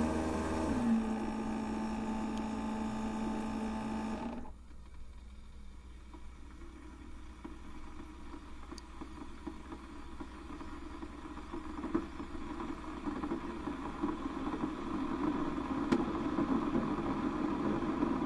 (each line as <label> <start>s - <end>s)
pump 0.0s - 4.9s
Keurig delivering some coffee 0.0s - 18.2s
pump 5.6s - 18.2s